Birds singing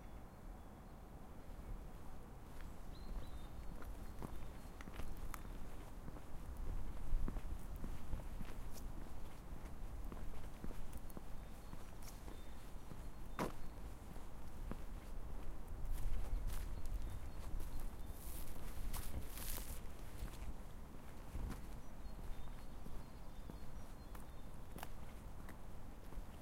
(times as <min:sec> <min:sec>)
0:02.9 0:05.8, 0:11.2 0:14.2, 0:16.3 0:20.4, 0:21.7 0:25.5